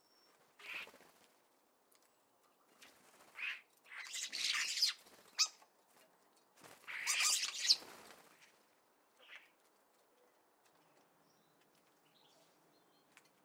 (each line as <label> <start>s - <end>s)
wing sounds of woodpigeon 2.7s - 5.6s
wing sounds of woodpigeon 6.6s - 8.7s
starlings 6.9s - 8.4s